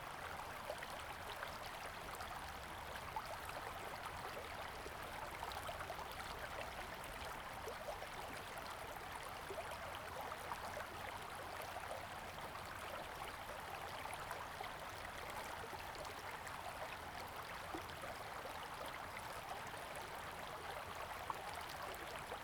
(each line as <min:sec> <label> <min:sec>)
0:00.0 stream 0:22.4